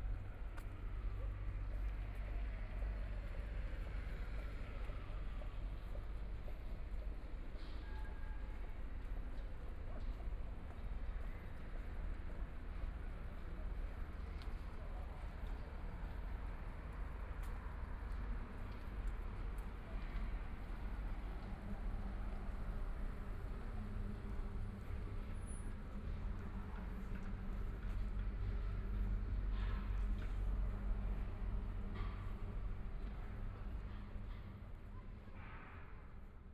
Walking on the road 0.0 - 35.3

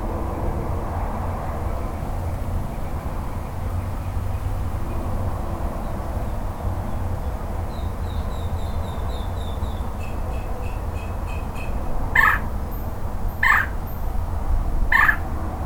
Birds 7.2 - 15.6

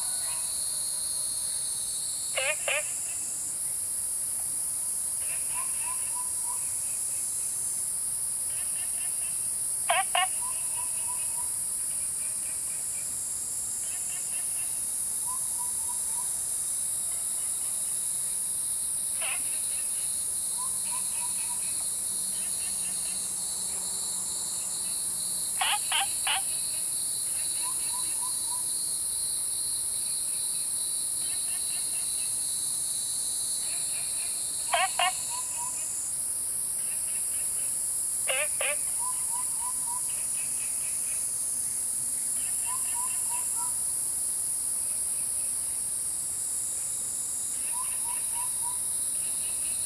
Cicadas called 0.0 - 49.8
Insects sounds 0.0 - 49.8
Frogs chirping 2.3 - 3.1
Frogs chirping 9.9 - 11.4
Frogs chirping 25.6 - 26.8
Frogs chirping 33.8 - 35.8
Frogs chirping 38.3 - 40.5

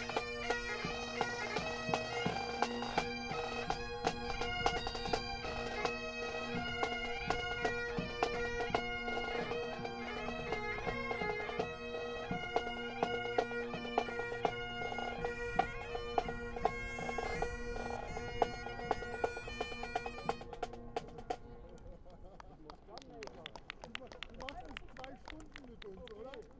bagpipe players practising 0.0 - 23.0

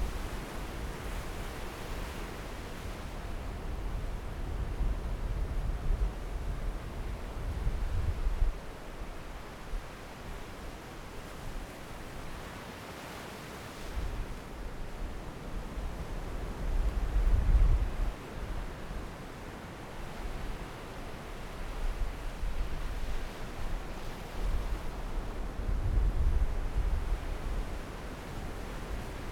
waves 0.0 - 29.3

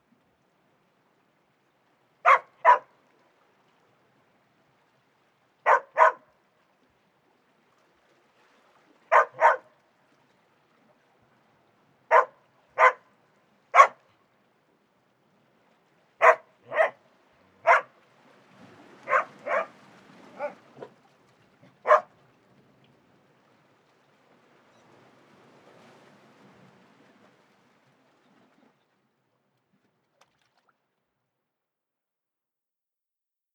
they were barking at the water 2.2 - 3.0
they were barking at the water 5.6 - 6.3
they were barking at the water 9.0 - 9.8
they were barking at the water 12.1 - 14.1
they were barking at the water 16.2 - 22.2

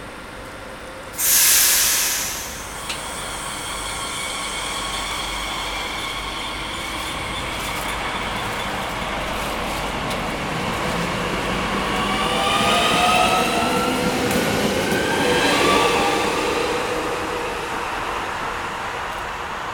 Arrival and departure of the train 0.0 - 19.7

